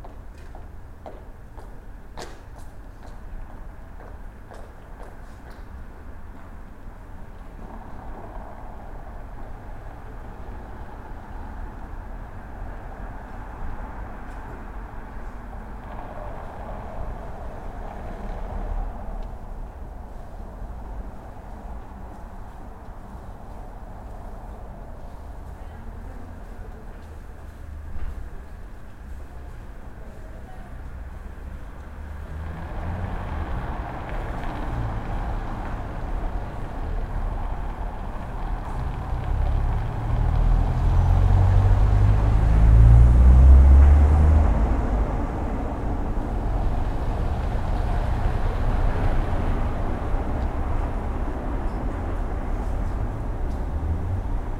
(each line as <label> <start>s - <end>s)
street sounds 0.0s - 54.5s